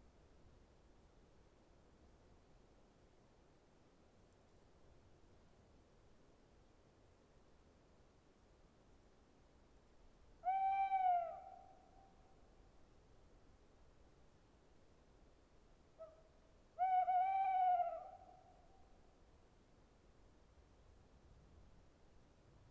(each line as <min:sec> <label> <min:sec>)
0:00.0 Gentle breeze on the treetop 0:22.7
0:10.4 Tawny owl singing 0:11.8
0:16.8 Tawny owl singing 0:18.4